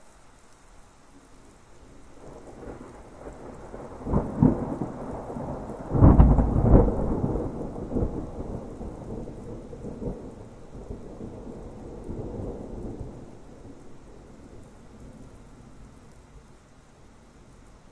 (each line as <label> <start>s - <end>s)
rain 0.0s - 17.9s
distant single roll of thunder 2.2s - 13.8s